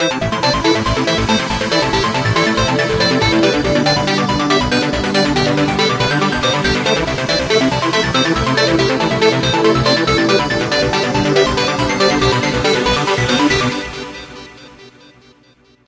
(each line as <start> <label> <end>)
0.0 bassline 15.0
0.0 strings 15.3